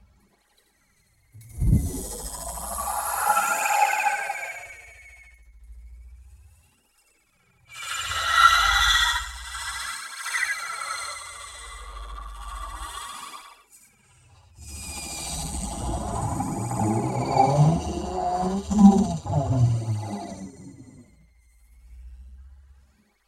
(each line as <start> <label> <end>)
14.7 processed voice 20.9